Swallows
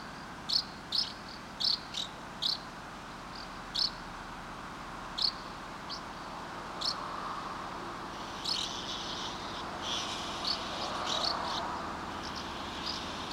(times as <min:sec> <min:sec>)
0:08.2 0:13.3